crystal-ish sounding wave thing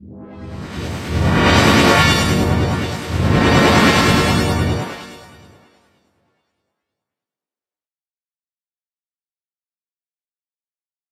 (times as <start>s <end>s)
0.2s 5.8s